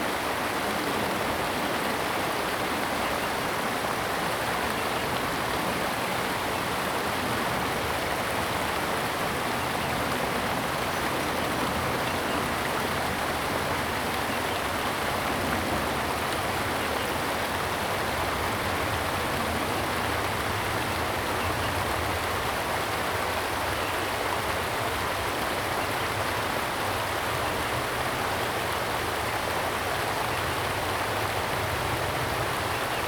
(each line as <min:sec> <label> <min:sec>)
0:00.0 Stream sound 0:33.0